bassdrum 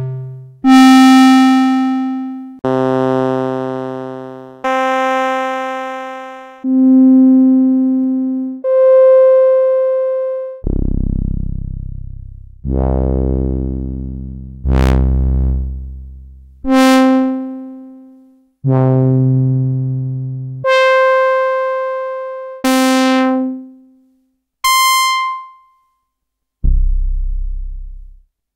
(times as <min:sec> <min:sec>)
0:10.6 0:17.0, 0:26.6 0:28.3